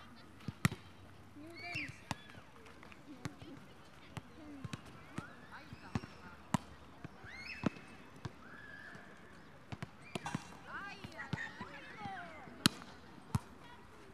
crowd enjoys first warm, spring day 0.0 - 14.1
couple knocking away a volleyball 9.7 - 13.6

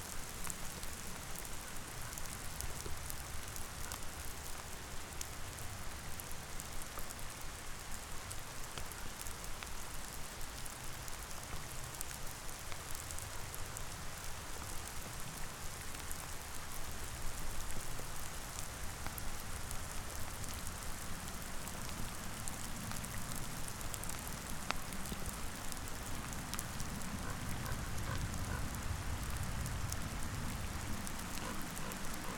Hail shower on a frozen lake 0.0 - 32.3

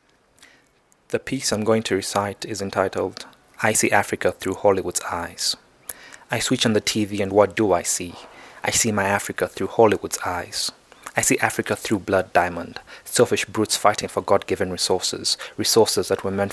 poem 1.1 - 16.5

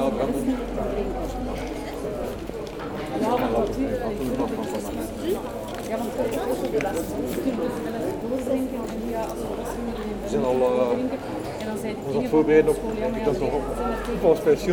People discussing 0.0 - 14.7

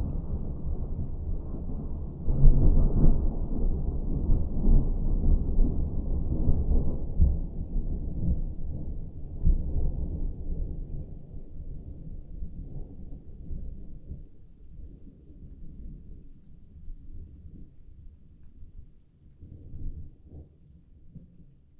Big Thunder Storm 0.0 - 11.2

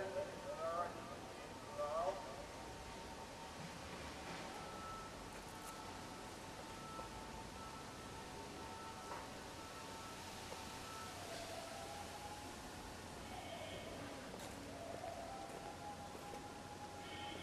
Afternoon ezan 13.2 - 17.4

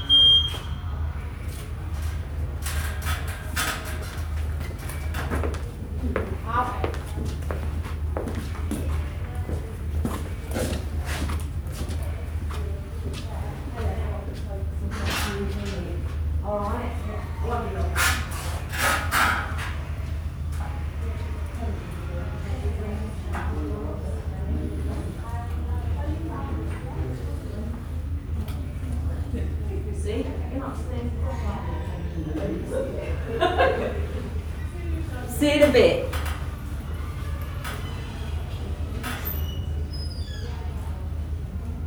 piercing bleeps 0.0 - 0.8

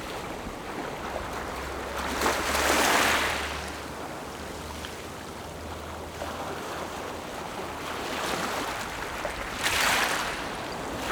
Waves and tides 0.0 - 11.1

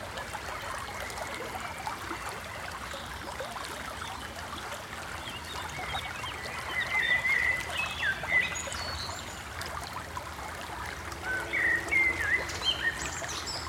nature noises 0.0 - 13.6
city sounds 9.4 - 13.6

